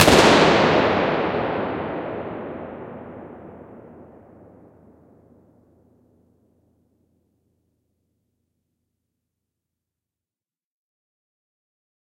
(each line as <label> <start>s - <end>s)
Gas pistol shot 0.0s - 4.2s